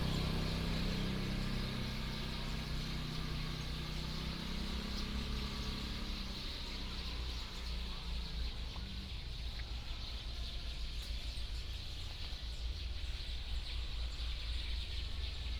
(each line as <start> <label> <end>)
0.0 Birdsong 15.5
0.0 Traffic Sound 15.5